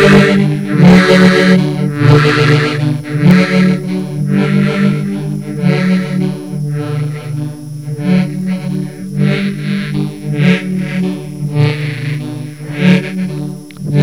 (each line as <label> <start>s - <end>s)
mouth organ 0.0s - 14.0s